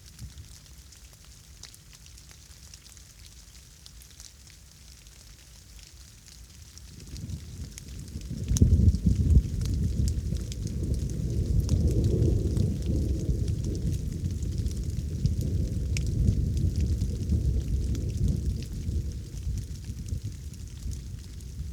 light rain 0.0 - 21.7
Thunderstorm 7.0 - 21.7

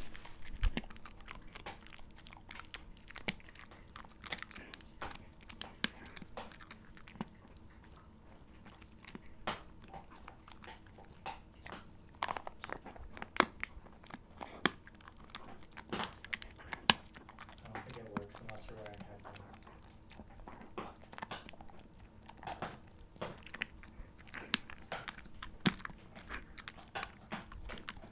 Dogs eating bones 0.0 - 28.1

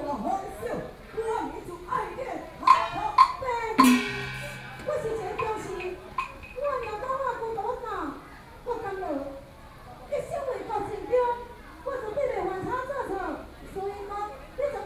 Outdoor Taiwanese Opera 1.2 - 7.8
drums 2.6 - 6.6

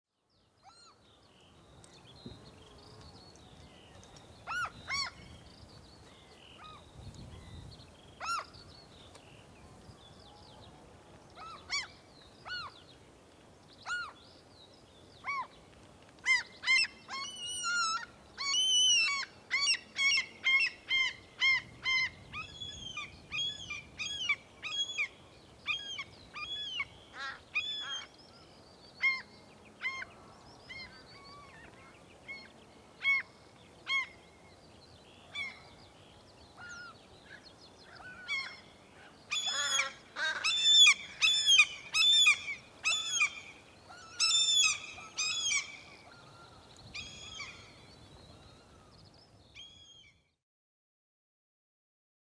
wind 0.0 - 50.4
gulls 37.9 - 46.4

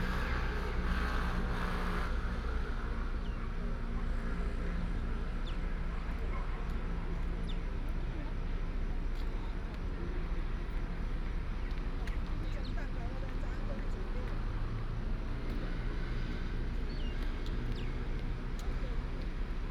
traffic sound 0.0 - 19.7
older people are here to chat and exercise 6.4 - 15.5

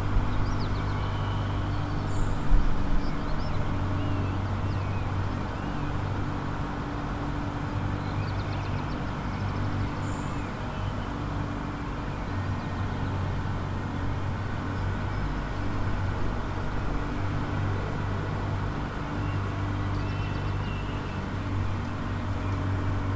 early bird activity 0.0 - 13.3
early bird activity 18.8 - 23.1

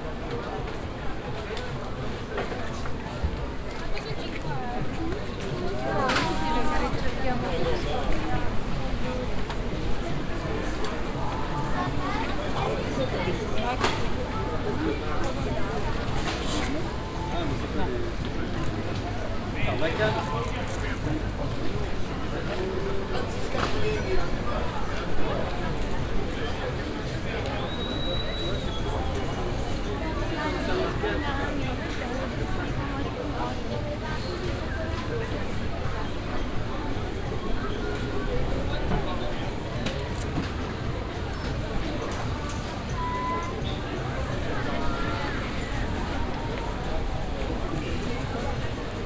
whistling marketeer 27.3 - 29.7
whistling marketeer 41.3 - 46.5

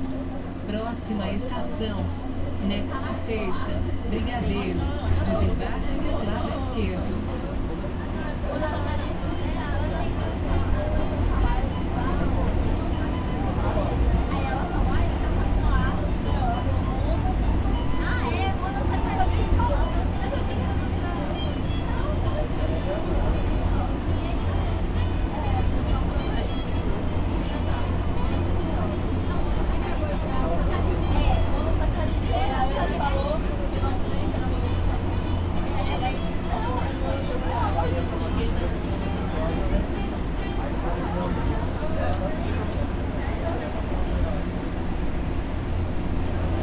subway train 0.0 - 46.6

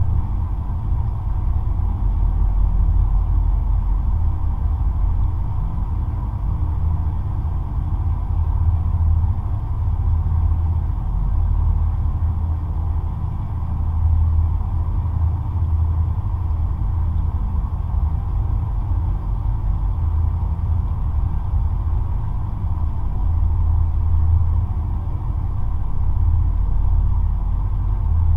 river 0.0 - 28.3

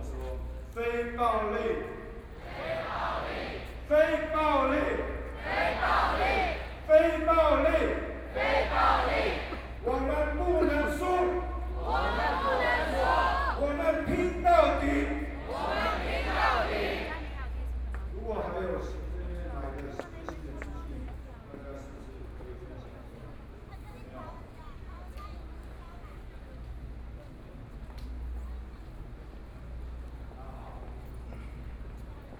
University students gathered to protest the government 0.1 - 17.8

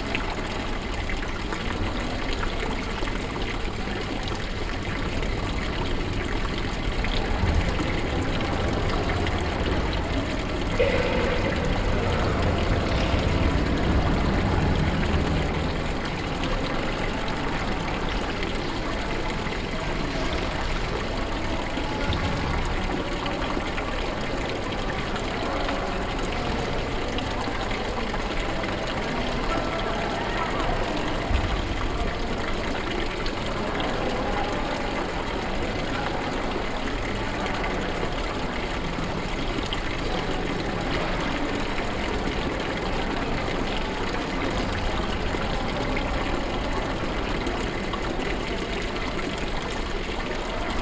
fountain 0.0 - 50.8

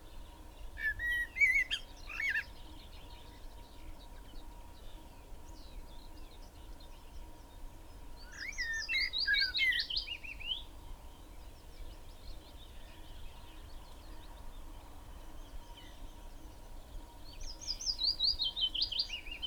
Willow warbler 8.2 - 19.4

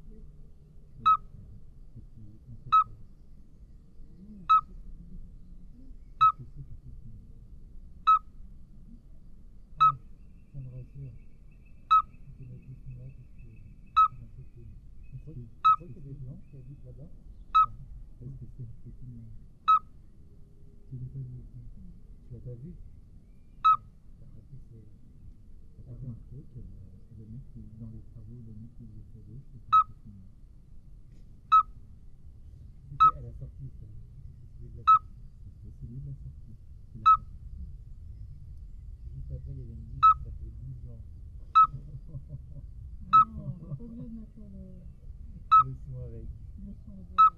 Common midwife toad 0.9 - 3.1
people is speaking 1.0 - 3.0
Common midwife toad 4.0 - 7.2
people is speaking 4.2 - 7.4
Common midwife toad 8.0 - 18.0
people is speaking 10.6 - 11.2
people is speaking 12.2 - 17.2
people is speaking 17.8 - 19.4
Common midwife toad 19.6 - 20.0
people is speaking 20.9 - 22.8
Common midwife toad 23.6 - 24.5
people is speaking 24.2 - 25.0
people is speaking 25.8 - 30.3
Common midwife toad 26.1 - 30.4
Common midwife toad 31.4 - 31.8
Common midwife toad 32.9 - 33.4
people is speaking 32.9 - 37.2
Common midwife toad 34.7 - 35.4
Common midwife toad 36.3 - 37.3
people is speaking 39.1 - 47.3
Common midwife toad 39.9 - 40.4
Common midwife toad 41.5 - 43.4
Common midwife toad 44.5 - 47.3

